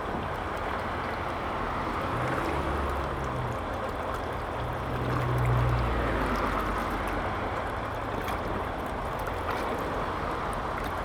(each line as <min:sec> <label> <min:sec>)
0:00.0 Irrigation waterway 0:11.0